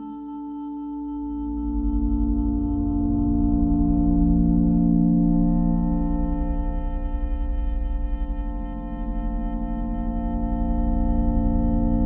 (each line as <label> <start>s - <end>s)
slow, quiet, and amorphous combination of synth sounds 0.0s - 12.0s